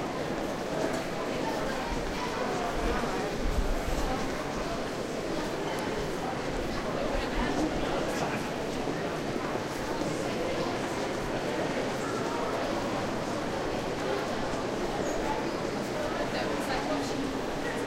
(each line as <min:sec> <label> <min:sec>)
0:00.0 people walk close to the recorder 0:17.8